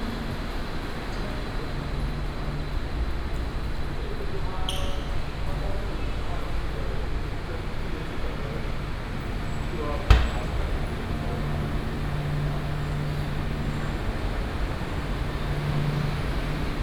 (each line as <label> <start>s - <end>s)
Traffic Sound 9.5s - 16.8s